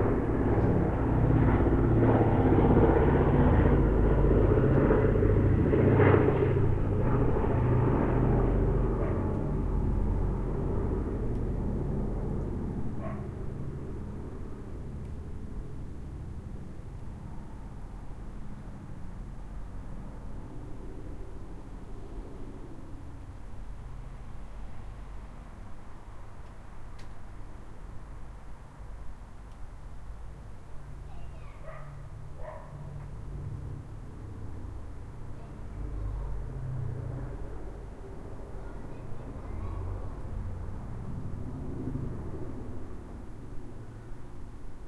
B17 Flying Fortress 0.0 - 26.3
dogs barking 9.0 - 9.3
dogs barking 13.0 - 13.4
B17 Flying Fortress 27.4 - 44.8
children playing in the distance 31.0 - 32.6
dogs barking 31.6 - 32.9
children playing in the distance 35.3 - 40.6

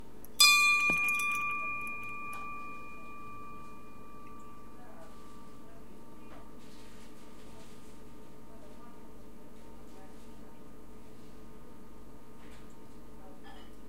Ringing bell 0.4 - 6.3

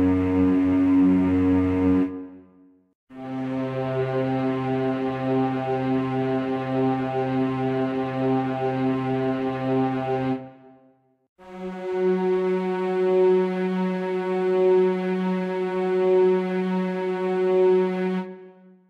string section 3.2 - 10.6
string section 11.4 - 18.5

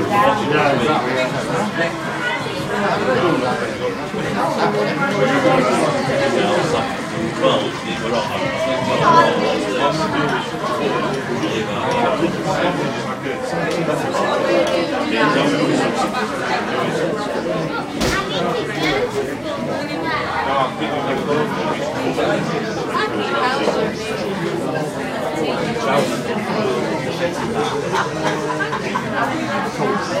chat 0.0 - 30.2

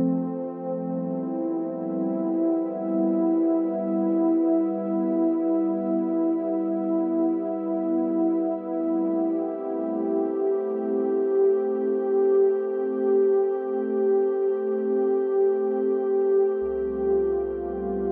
piano 16.3 - 18.1

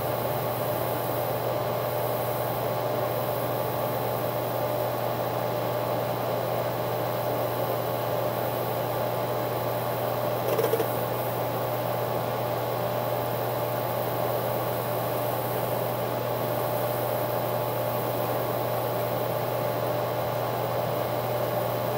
Harddrives spinning 10.4 - 11.2

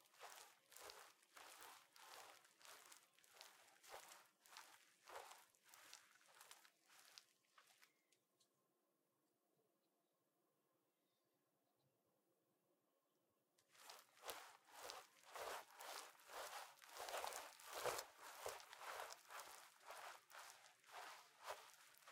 Walking Raincoat Cloth Layer 0.0 - 7.9
Walking Raincoat Cloth Layer 13.7 - 22.1

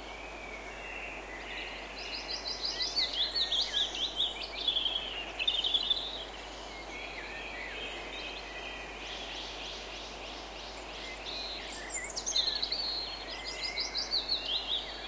birdsong 0.0 - 15.0

